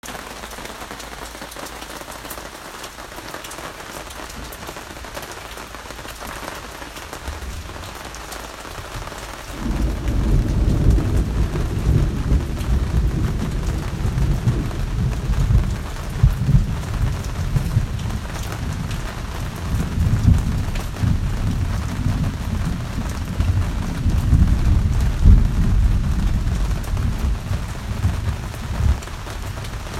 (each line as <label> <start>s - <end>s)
Heavy rain 0.0s - 29.9s
peal of thunder 9.5s - 29.9s